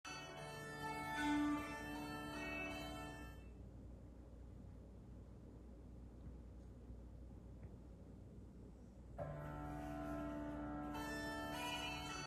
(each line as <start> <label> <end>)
0.1 music 3.5
9.2 music 12.2